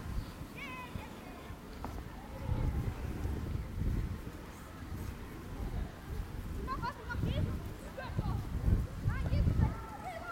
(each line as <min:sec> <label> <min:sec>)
0:00.0 children 0:10.3
0:00.0 walking across the area 0:10.3